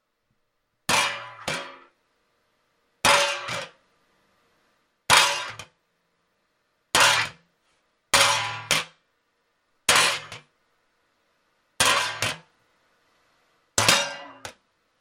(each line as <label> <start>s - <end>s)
Metal sheet hitting floor and bouncing a little 0.9s - 1.9s
Metal sheet hitting floor and bouncing a little 3.0s - 3.8s
Metal sheet hitting floor and bouncing a little 5.1s - 5.8s
Metal sheet hitting floor and bouncing a little 7.0s - 7.5s
Metal sheet hitting floor and bouncing a little 8.2s - 9.0s
Metal sheet hitting floor and bouncing a little 9.9s - 10.5s
Metal sheet hitting floor and bouncing a little 11.8s - 12.5s
Metal sheet hitting floor and bouncing a little 13.8s - 14.6s